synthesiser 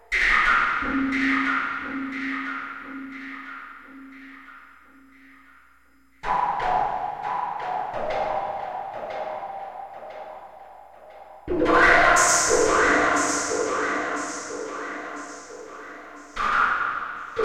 0:06.2 0:17.4

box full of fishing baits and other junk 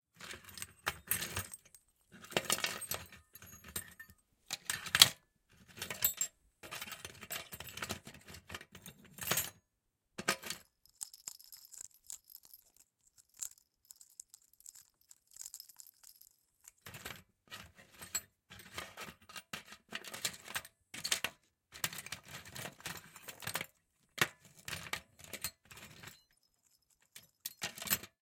0:10.2 0:20.2

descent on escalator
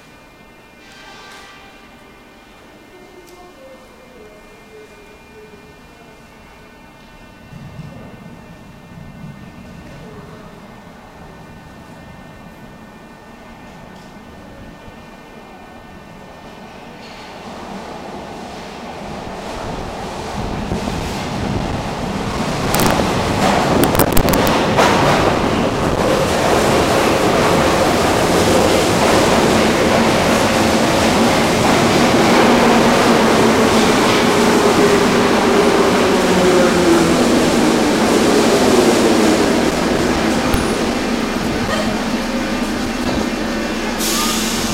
0:16.3 0:44.7

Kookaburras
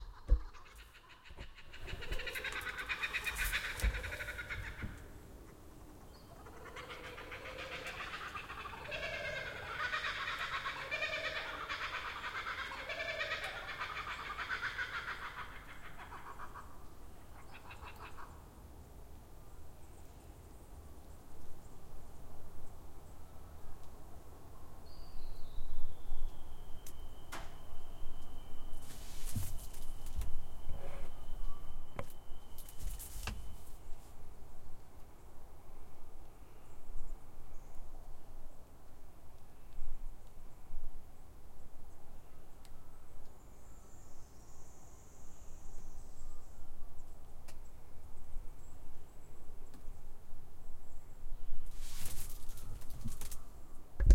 0:00.0 0:18.5

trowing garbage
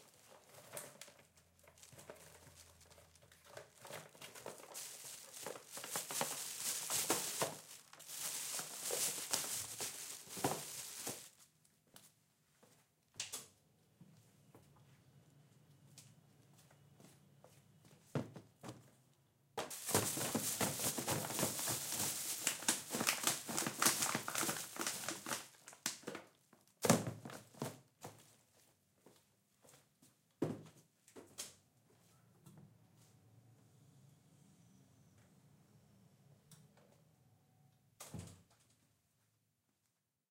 0:01.6 0:11.4, 0:19.6 0:25.8

